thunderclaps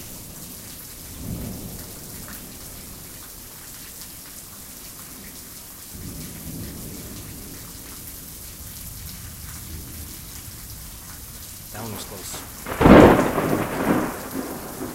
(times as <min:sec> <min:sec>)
0:12.0 0:14.9